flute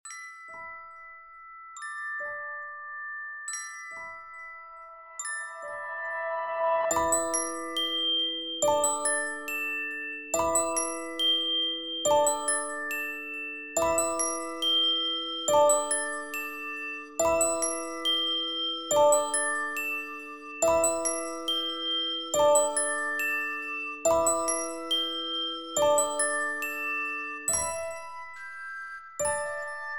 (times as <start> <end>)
5.1 8.6